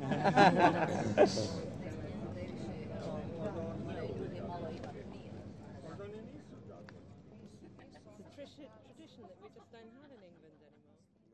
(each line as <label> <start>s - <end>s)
people at the next table 0.0s - 11.3s